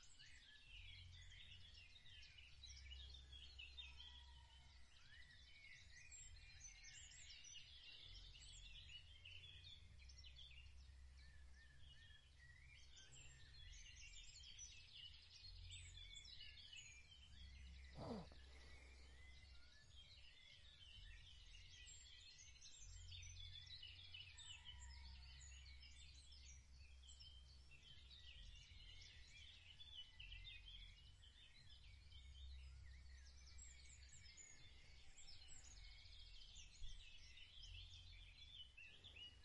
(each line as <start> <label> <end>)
17.9 Finches 19.1